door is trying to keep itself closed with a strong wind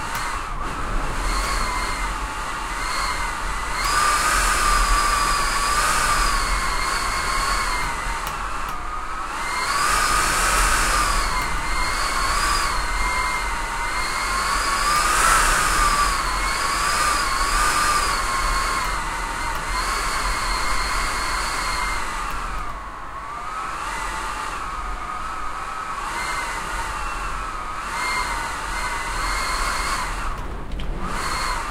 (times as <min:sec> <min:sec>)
0:29.4 0:31.7